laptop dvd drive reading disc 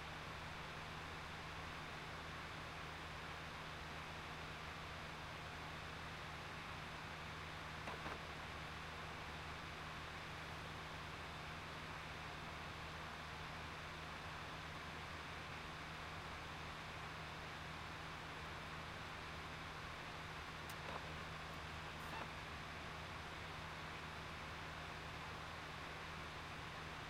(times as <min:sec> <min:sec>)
0:07.8 0:08.4, 0:20.7 0:22.4